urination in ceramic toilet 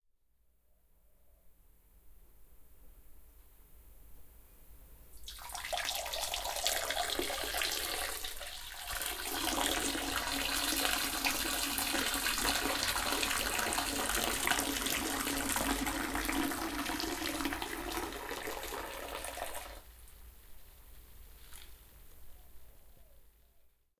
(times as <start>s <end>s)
5.2s 19.9s